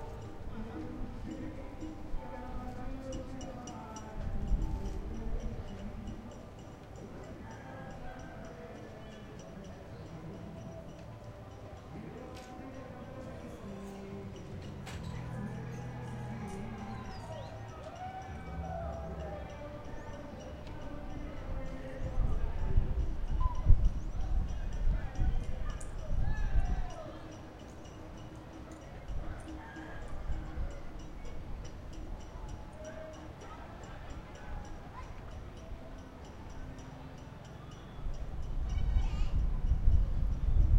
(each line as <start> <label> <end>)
0.0 high flow of people 40.7
14.8 children playing 40.4